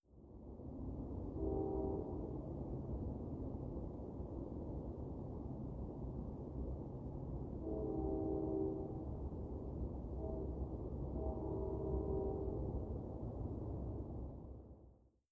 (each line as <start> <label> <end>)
1.0 train horn in the distance 2.7
7.5 train horn in the distance 14.1